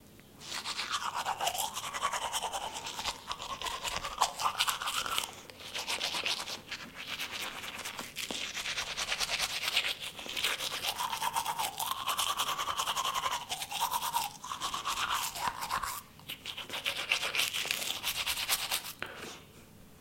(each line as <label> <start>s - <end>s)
teeth brusing 0.8s - 6.2s